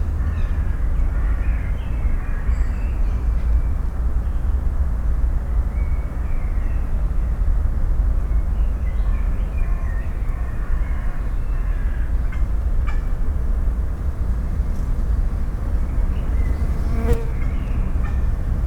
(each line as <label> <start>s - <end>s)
city drone 0.0s - 18.6s